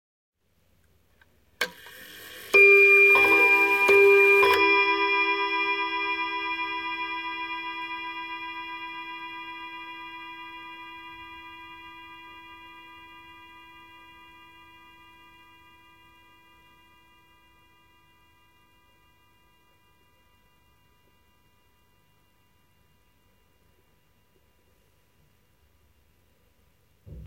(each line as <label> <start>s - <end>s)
Antique table clock (probably early 20th century) chiming two times 1.6s - 8.8s